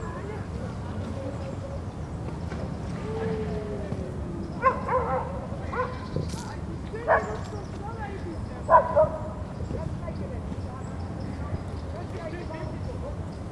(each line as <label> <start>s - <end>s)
Barking dogs in the distance 4.4s - 6.2s
Barking dogs in the distance 7.0s - 7.7s
Barking dogs in the distance 8.6s - 9.4s